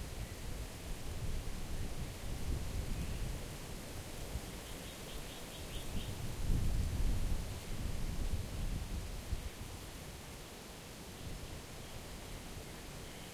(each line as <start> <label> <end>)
0.0 windy 13.3